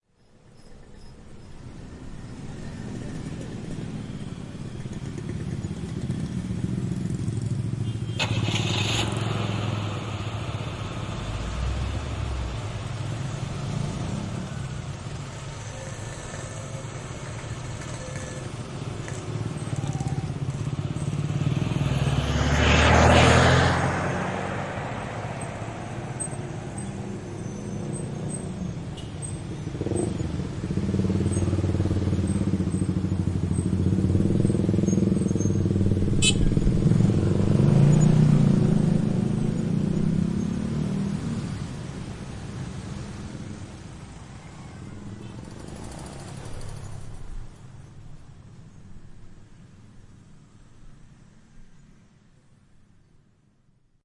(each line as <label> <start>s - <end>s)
mobil start 8.1s - 10.4s